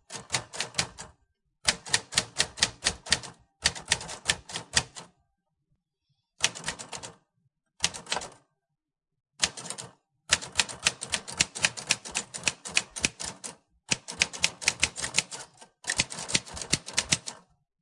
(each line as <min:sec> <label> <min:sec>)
0:01.7 Typing at different speeds 0:05.0
0:09.4 Typing at different speeds 0:17.4